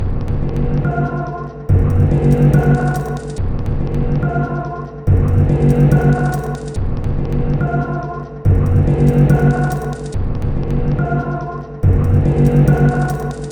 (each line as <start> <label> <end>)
0.3 Drum Loop 13.5